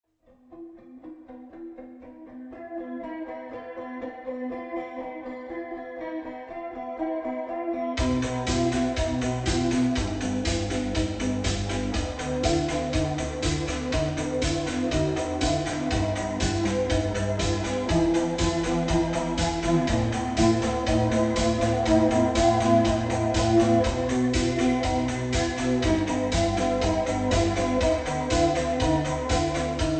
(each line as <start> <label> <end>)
8.0 drum machine 29.9